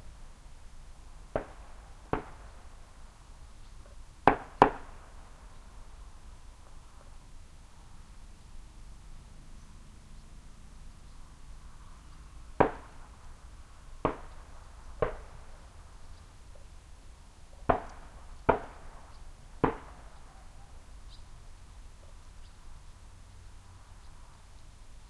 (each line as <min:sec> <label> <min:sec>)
0:01.3 birds 0:05.9
0:01.4 Gunfire in the distance 0:02.6
0:04.2 Gunfire in the distance 0:05.1
0:06.5 birds 0:25.0
0:12.6 Gunfire in the distance 0:13.0
0:14.0 Gunfire in the distance 0:15.5
0:17.7 Gunfire in the distance 0:19.0
0:19.6 Gunfire in the distance 0:20.2